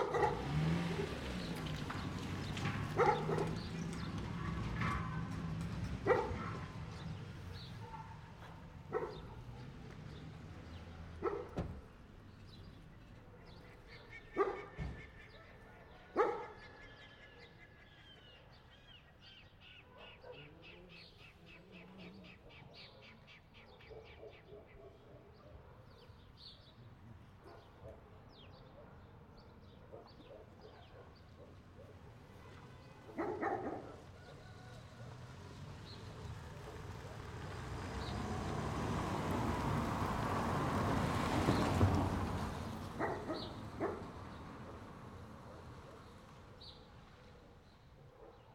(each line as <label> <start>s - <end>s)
CAR PASSING 0.0s - 15.2s
DOG 3.0s - 3.6s
DOG 14.4s - 14.8s
DOG 15.9s - 16.8s
DOG 19.8s - 20.6s
DOG 22.3s - 26.2s
DOG 27.4s - 32.1s
CAR PASSING 31.0s - 47.4s
DOG 33.1s - 34.4s
DOG 43.0s - 44.1s
DOG 46.6s - 48.5s